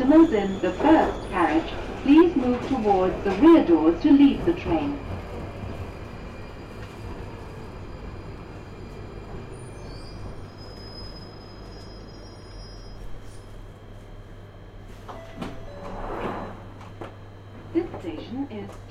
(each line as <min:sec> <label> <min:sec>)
0:00.0 Underground train 0:18.9